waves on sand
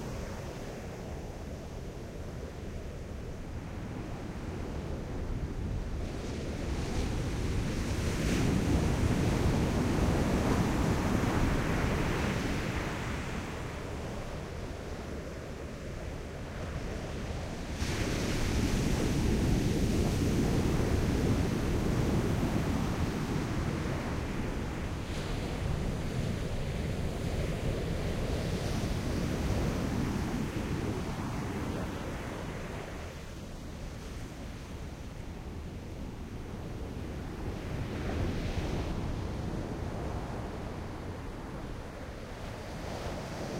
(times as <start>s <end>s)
17.5s 35.4s